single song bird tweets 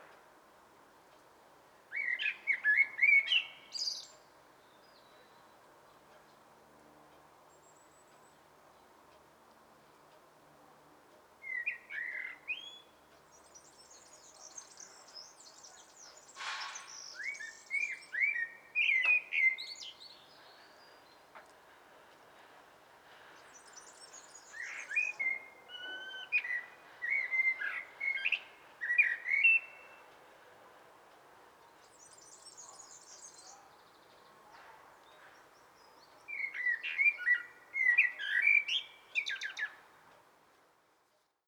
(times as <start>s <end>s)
1.9s 5.5s, 11.4s 21.2s, 23.4s 30.1s, 31.8s 34.4s, 35.0s 39.8s